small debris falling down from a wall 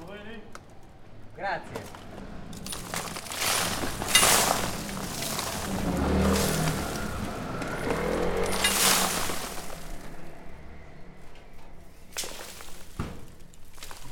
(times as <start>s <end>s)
1.8s 10.8s, 11.9s 14.1s